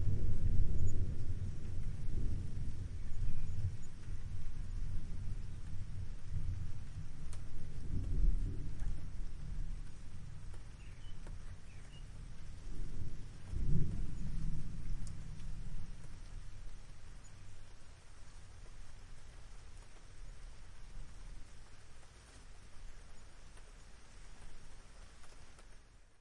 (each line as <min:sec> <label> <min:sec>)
0:00.0 light rain with heavy drops on the roof 0:26.2
0:00.0 light wind 0:26.2